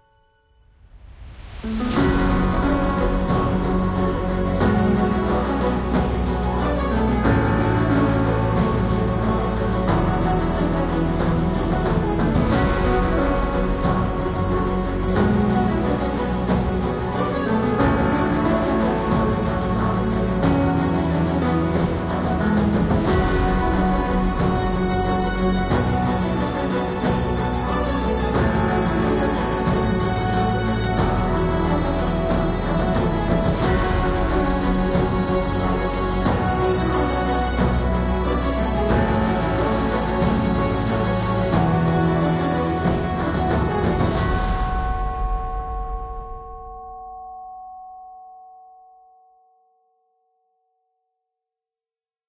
0.0s strings 47.5s
0.0s piano 49.1s
0.8s percussions 48.8s
1.1s bass 46.9s
1.3s brass 45.6s
1.4s woodwinds 45.5s

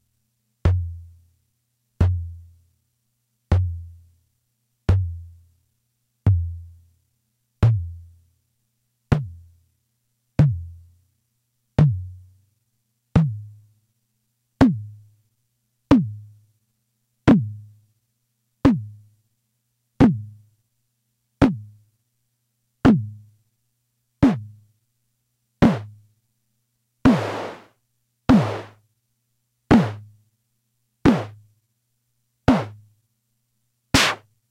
25.6s analog Drum Machine tom drum sounds 25.9s
27.0s analog Drum Machine tom drum sounds 27.7s
28.3s analog Drum Machine tom drum sounds 28.8s
29.7s analog Drum Machine tom drum sounds 30.0s
31.0s analog Drum Machine tom drum sounds 31.4s
32.5s analog Drum Machine tom drum sounds 32.8s
33.9s analog Drum Machine tom drum sounds 34.2s

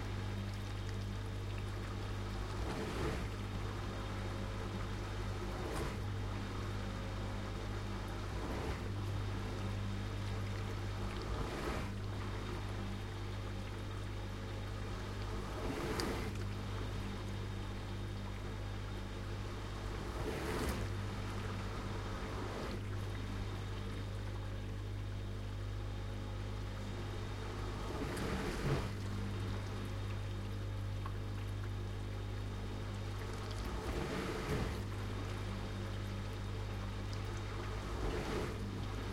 0.0s diswasher washing a full load of dishes 13.1s
0.0s Water movements 25.7s
14.8s diswasher washing a full load of dishes 17.0s
19.5s diswasher washing a full load of dishes 23.9s
26.4s Water movements 39.1s
27.4s diswasher washing a full load of dishes 30.2s
33.0s diswasher washing a full load of dishes 36.4s
37.2s diswasher washing a full load of dishes 39.1s

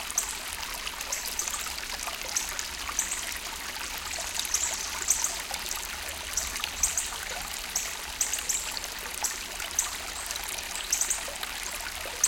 0.0s water you hear was maybe 2 inches deep at most, flowing 12.2s

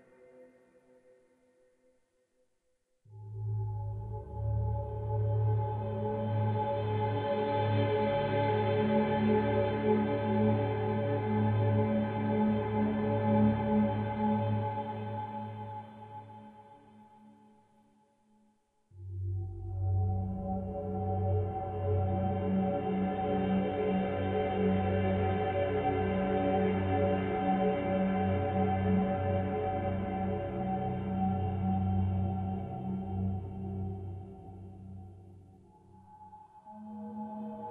0.0s synthesizer 2.1s
3.0s synthesizer 18.0s
18.8s synthesizer 37.7s

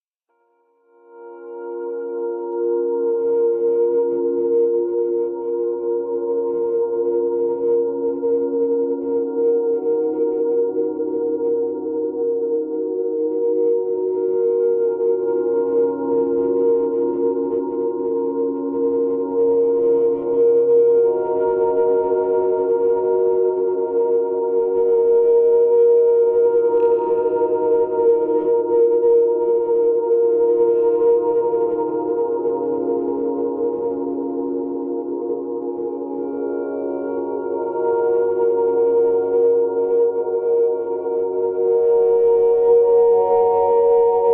1.1s Rhodes volume turned by hand like some waves 44.3s

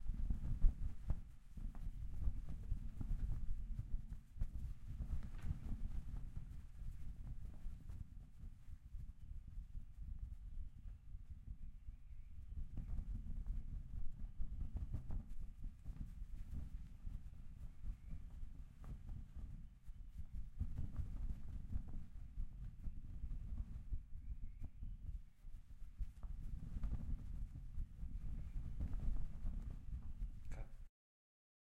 0.0s Windy Cloth 8.9s
12.8s Windy Cloth 30.9s

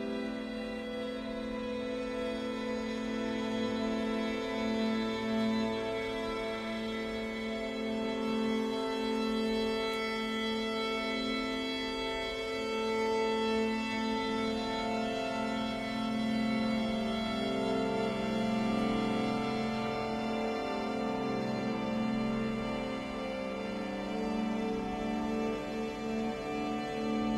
0.0s stringquartet 27.3s

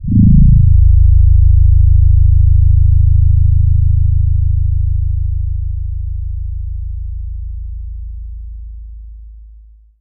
0.0s Low frequency tones 6.8s

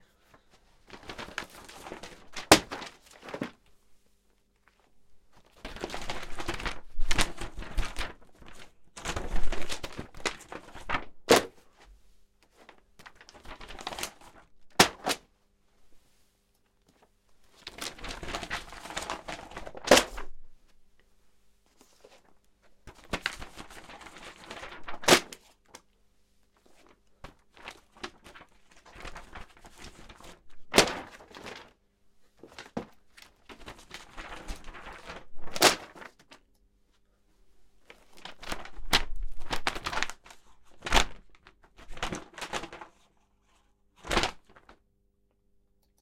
0.9s Paper thrown around in the air 3.6s
17.6s Paper thrown around in the air 20.4s
33.4s Paper thrown around in the air 36.3s

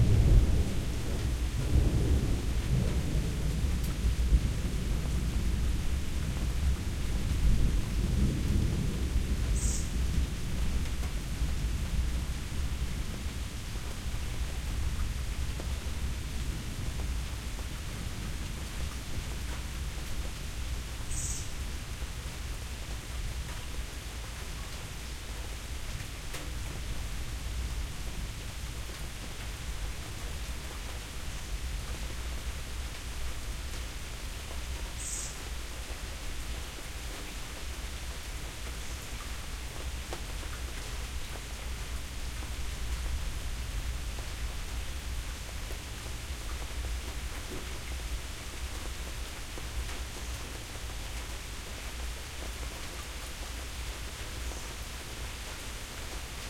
0.0s Thunder 5.8s
0.0s Rain 56.4s

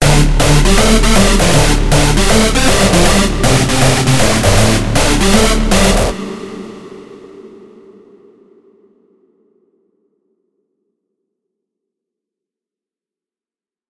0.0s hardstyle project 7.7s

